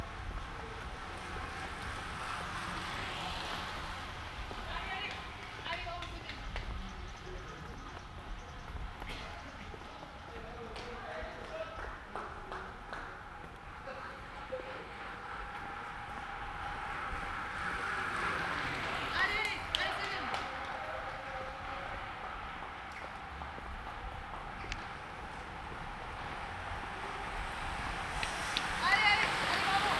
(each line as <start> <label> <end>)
0.0 Female cyclists passing by in the walking direction 29.9
0.0 Walking by 29.9